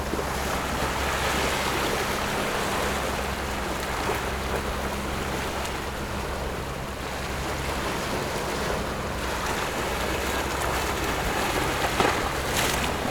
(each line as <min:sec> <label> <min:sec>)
0:07.8 Rocks and waves 0:13.1